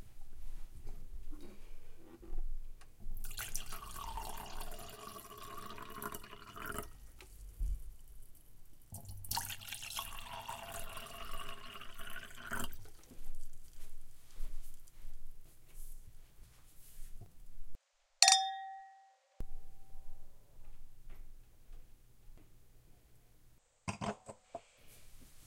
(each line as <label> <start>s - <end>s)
wine being poured into two glasses 3.2s - 6.9s
wine being poured into two glasses 9.0s - 13.0s
glasses clinking together 18.2s - 19.1s